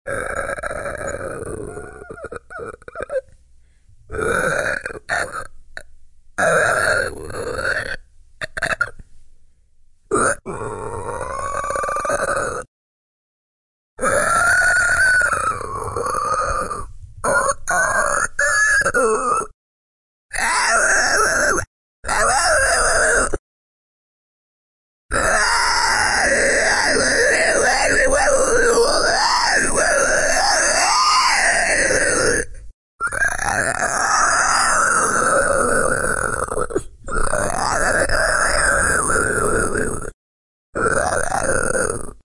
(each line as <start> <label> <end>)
0.1 Creature Screeching 3.3
0.1 growl 3.3
4.1 growl 9.0
4.1 Creature Screeching 5.5
6.4 Creature Screeching 8.9
10.1 Creature Screeching 12.7
10.1 growl 12.7
14.0 Creature Screeching 19.6
14.0 growl 19.6
20.3 Creature Screeching 23.4
20.3 growl 23.4
25.1 Creature Screeching 40.2
25.1 growl 42.2
40.8 Creature Screeching 42.2